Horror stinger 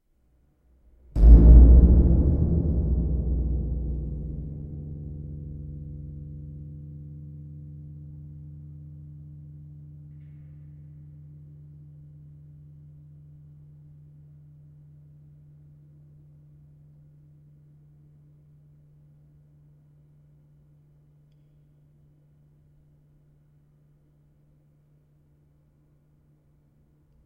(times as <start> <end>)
1.2 5.6